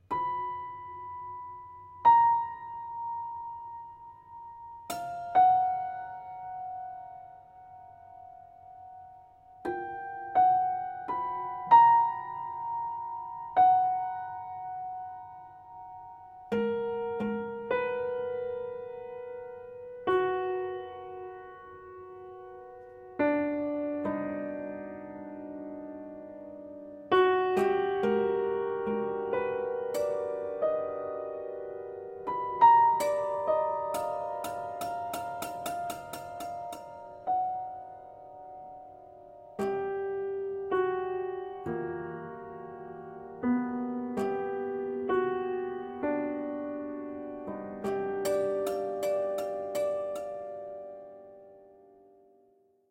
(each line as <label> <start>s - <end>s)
prepared piano 0.0s - 52.9s